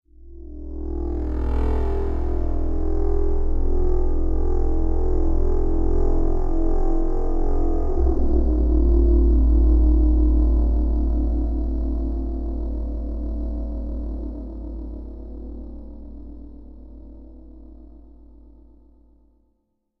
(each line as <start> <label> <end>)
1.0 motorbike passing by 4.3